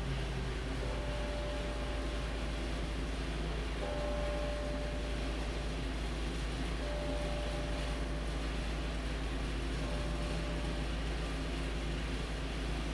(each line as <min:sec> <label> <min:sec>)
0:00.8 noon bell 0:03.0
0:03.7 noon bell 0:05.8
0:06.8 noon bell 0:08.3